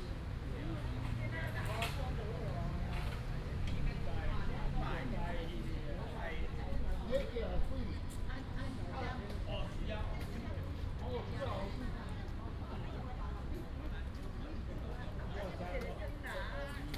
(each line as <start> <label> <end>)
0.0 A lot of old people in the park 16.9